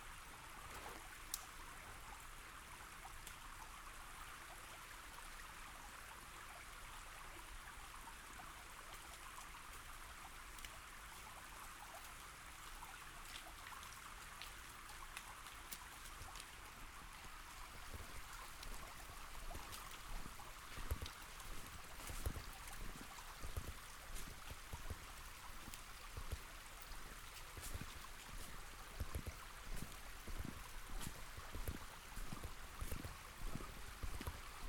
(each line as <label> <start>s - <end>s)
water streaming down the small channels 0.0s - 34.6s
walking down the street 17.2s - 34.6s